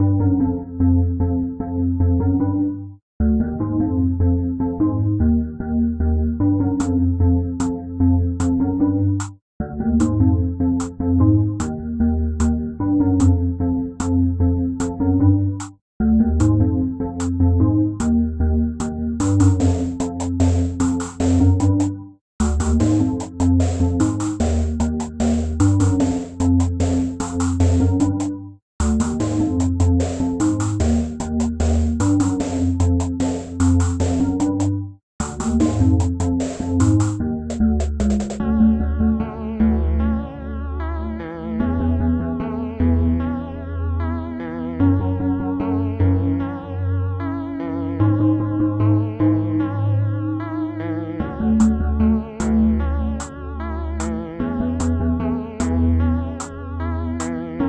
0.0s Background Music 57.6s

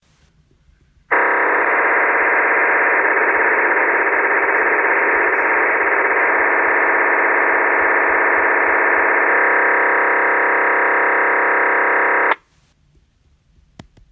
1.1s ham radio transmission 12.4s

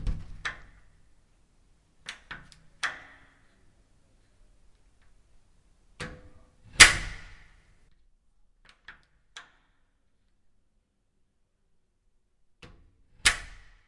0.0s doors opened and closed 0.9s
2.0s doors opened and closed 3.6s

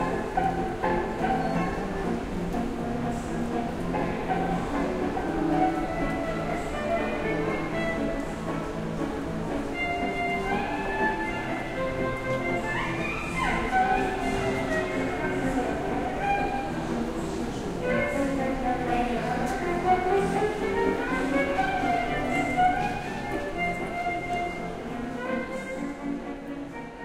0.0s Street musicians playing Gypsy jazz violin music 27.0s

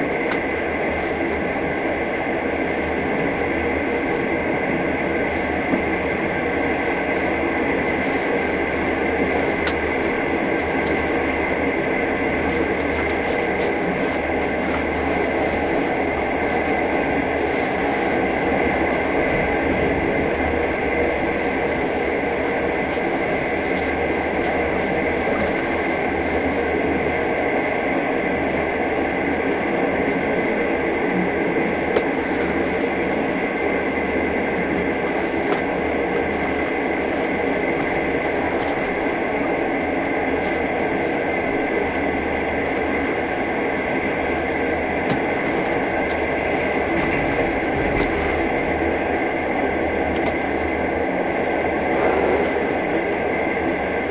0.0s Loud, clunky railway noises 54.1s

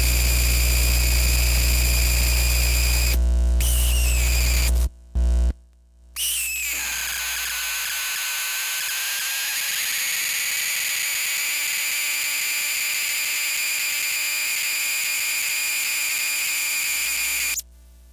0.0s 60 hertz hum 6.8s
0.0s Noise from a Broken Walkman 18.1s
17.6s 60 hertz hum 18.1s

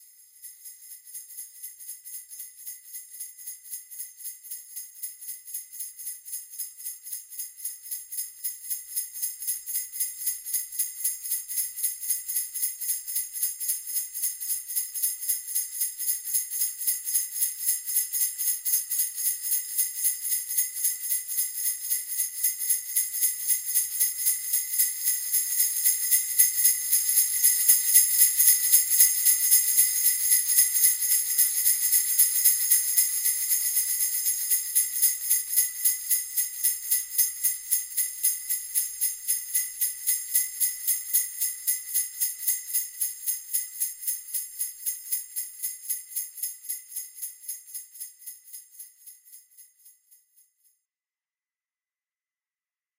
0.0s Hand sleigh bells 50.4s

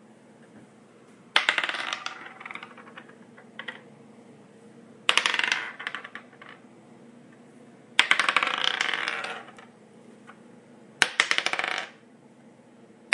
1.4s d12's rolling on various surfaces 3.8s
5.1s d12's rolling on various surfaces 6.6s
8.0s d12's rolling on various surfaces 9.7s

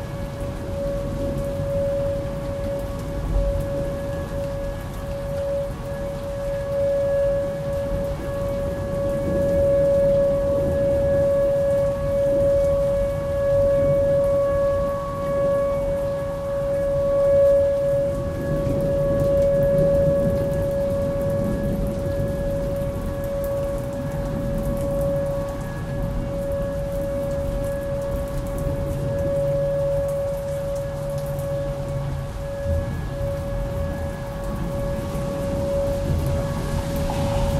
0.0s Tornado sirens running 37.5s
0.0s rain 37.5s
8.2s thunder 11.2s
18.2s thunder 26.7s
32.5s thunder 37.5s

